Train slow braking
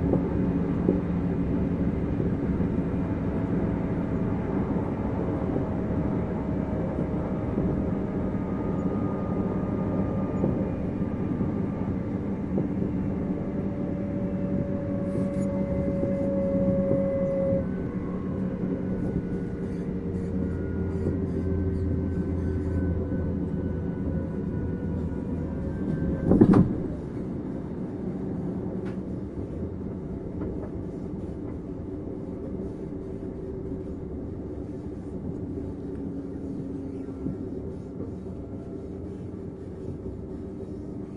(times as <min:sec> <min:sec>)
0:02.7 0:27.3